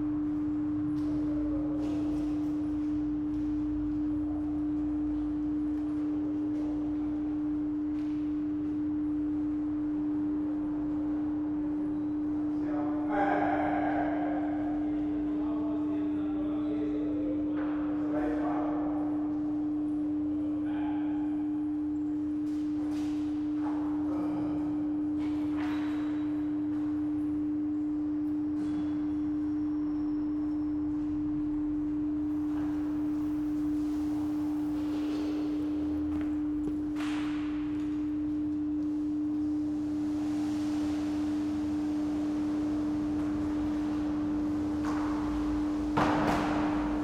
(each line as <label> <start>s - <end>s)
workers cleaning the station 32.3s - 38.4s
workers cleaning the station 39.4s - 47.0s